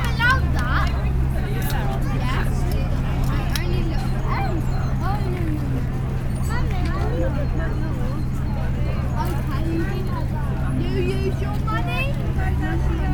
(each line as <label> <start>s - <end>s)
crowd 0.0s - 13.1s